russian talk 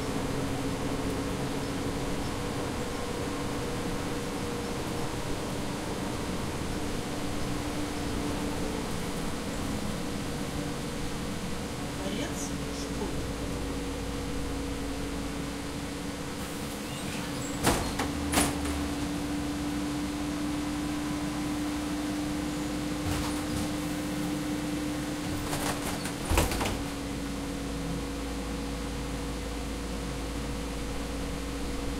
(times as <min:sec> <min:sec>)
0:12.0 0:13.4